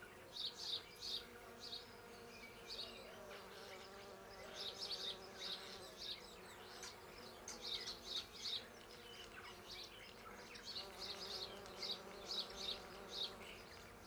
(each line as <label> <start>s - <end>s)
Bees 0.0s - 14.0s
Birds in the background 0.0s - 14.0s